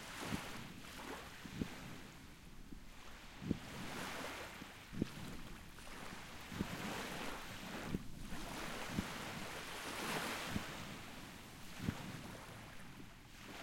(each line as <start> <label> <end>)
0.0 Waves 13.6